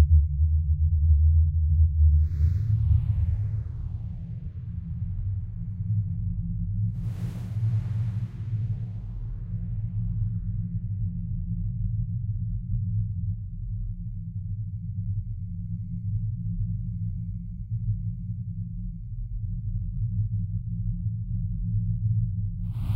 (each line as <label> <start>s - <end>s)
repetitive rumble sounds 1.8s - 13.9s
drone 7.0s - 11.1s
repetitive rumble sounds 22.7s - 22.9s
drone 22.7s - 22.9s